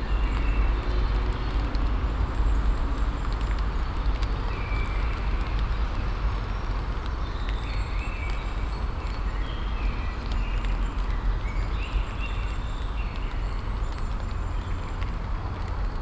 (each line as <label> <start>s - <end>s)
Light rain falling on the leaves 0.0s - 16.0s